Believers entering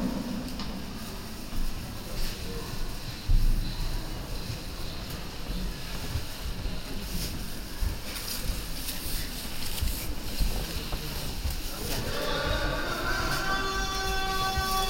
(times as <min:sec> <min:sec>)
0:11.5 0:14.8